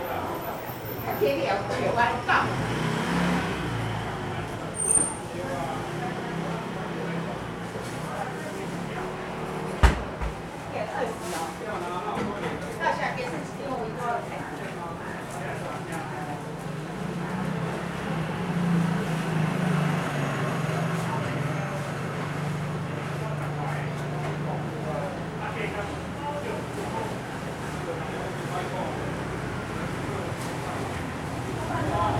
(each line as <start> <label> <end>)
0.0 Traffic Sound 10.7
0.0 Walking through the traditional market 32.1
15.0 Traffic Sound 32.1